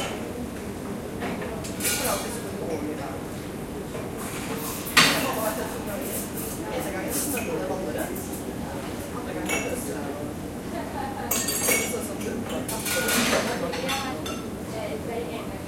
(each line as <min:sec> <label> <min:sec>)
0:00.0 people talking 0:04.1
0:05.0 people talking 0:15.6